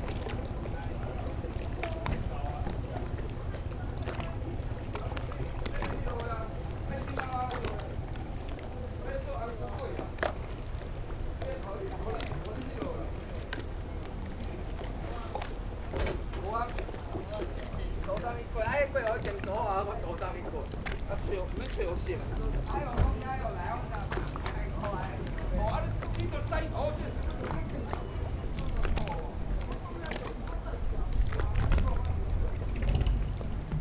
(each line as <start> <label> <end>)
0.0 Waves and Tide 33.8